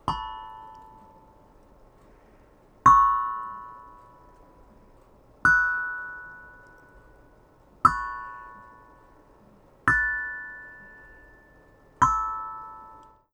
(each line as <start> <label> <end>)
0.0 Loud steel tongue drum notes 1.4
7.8 Loud steel tongue drum notes 9.2
9.9 Loud steel tongue drum notes 13.2